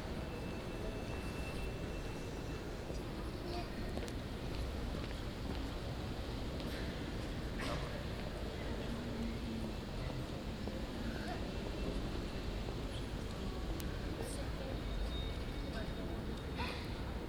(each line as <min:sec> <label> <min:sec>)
0:00.0 People waiting in que 0:17.2